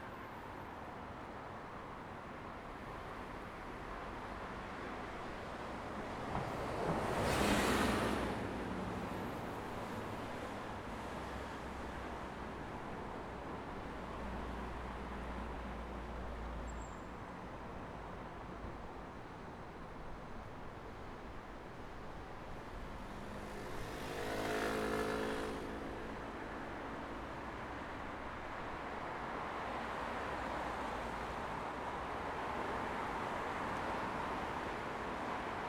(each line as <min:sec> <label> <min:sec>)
0:22.7 Cars and motorcycle passing by 0:27.1